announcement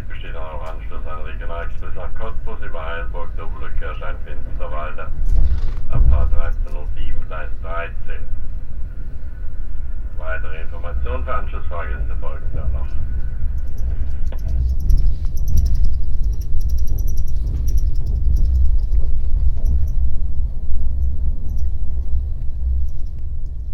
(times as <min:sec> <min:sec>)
0:00.0 0:05.2, 0:05.9 0:08.4, 0:10.2 0:13.1